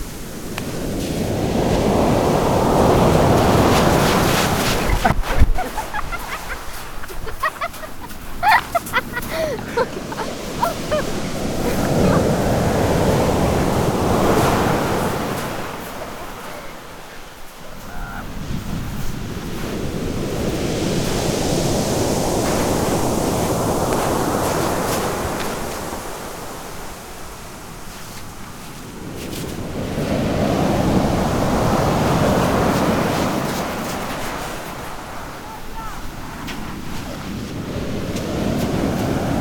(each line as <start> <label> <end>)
0.0 waves 39.4